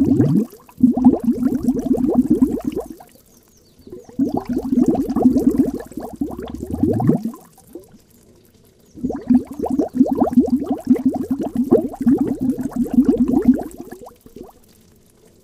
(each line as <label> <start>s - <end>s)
Bubbles of a little underground stream below a rock 0.0s - 15.4s